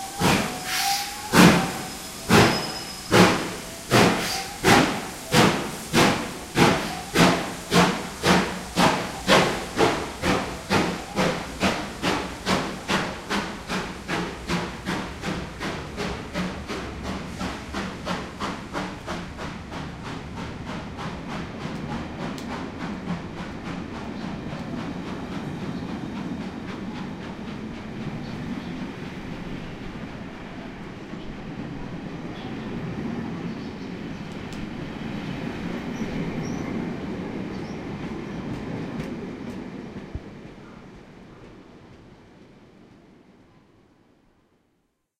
train whistle (brief) 0:00.0 - 0:03.4
Steam hiss 0:00.0 - 0:31.0
steam train leaving 0:00.0 - 0:43.9
train whistle (brief) 0:04.1 - 0:04.9

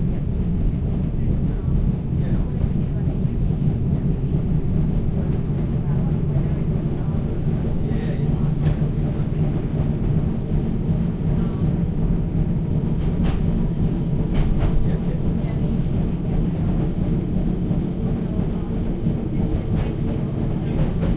W-class tram 0:00.0 - 0:21.1
people speaking 0:00.0 - 0:21.1

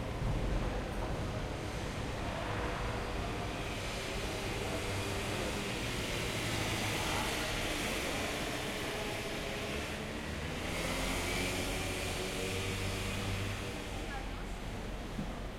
Train 0:00.0 - 0:15.5
bus 0:00.0 - 0:15.5
crowd 0:00.0 - 0:15.5

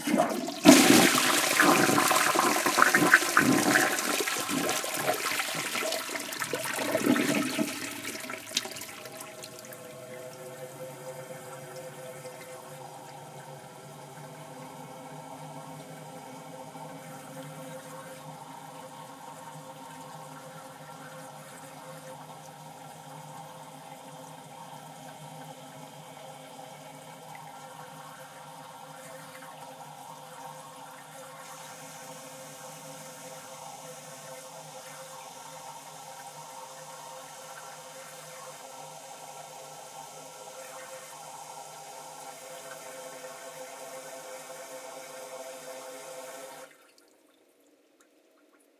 toilet 0:00.0 - 0:47.1

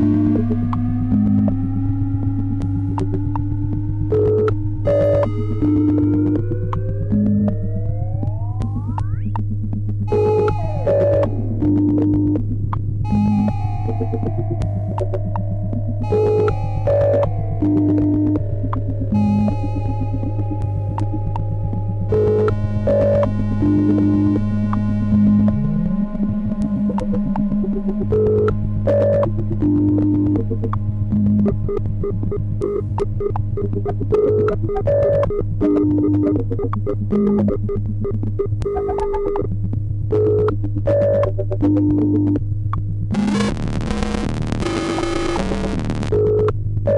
Melody 0:13.0 - 0:24.5

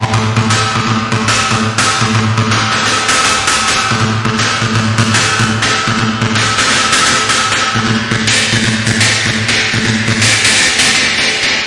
drum loop 0:00.0 - 0:11.6

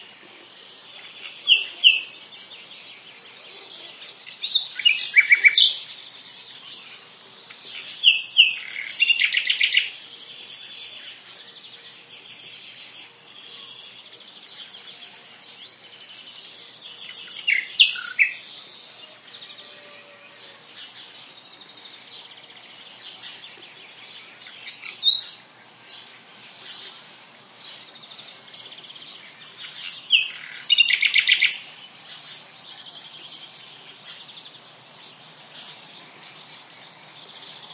Nightingale singing 0:00.0 - 0:37.7
other birds in background 0:00.0 - 0:37.7

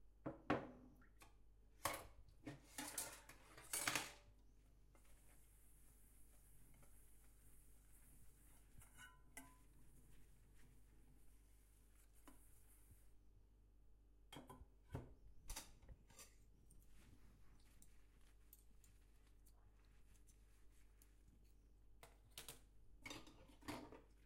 wash dishes 0:00.6 - 0:13.1
wash dishes 0:23.0 - 0:24.2

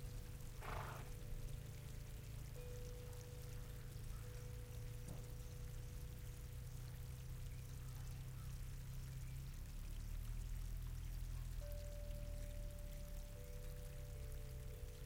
Birds 0:00.0 - 0:15.0
Stream 0:00.0 - 0:15.0
Wind 0:00.0 - 0:15.0
Horse 0:00.5 - 0:01.2
Chimes 0:01.3 - 0:06.2
Chimes 0:11.6 - 0:15.0

